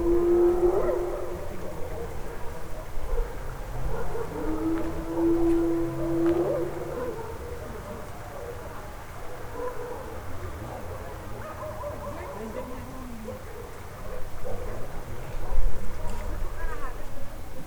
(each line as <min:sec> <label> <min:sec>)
0:00.0 hyenas are wandering in the city and shout 0:16.8